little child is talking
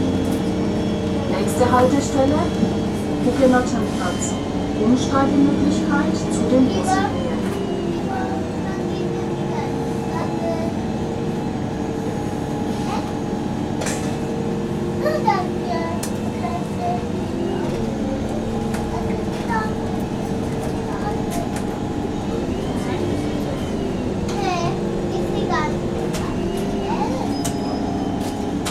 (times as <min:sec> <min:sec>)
0:06.6 0:10.8, 0:12.8 0:13.2, 0:15.0 0:17.2, 0:18.9 0:19.8, 0:20.9 0:21.6, 0:24.3 0:27.5